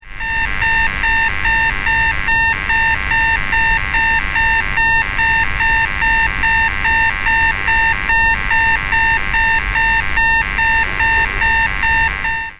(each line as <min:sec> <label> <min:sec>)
0:00.1 electric toothbrush alarm 0:12.5
0:00.1 white noise 0:12.5
0:08.0 strange buzzy bits 0:12.4